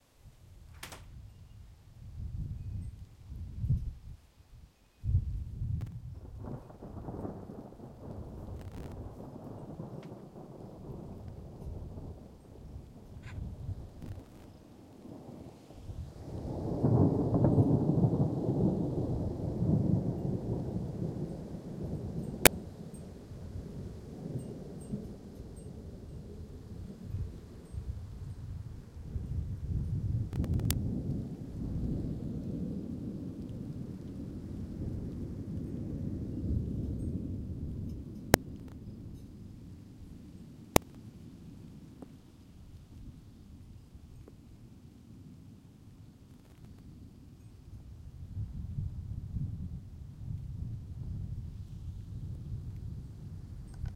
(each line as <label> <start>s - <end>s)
thunder 5.4s - 42.1s
thunder 46.2s - 53.9s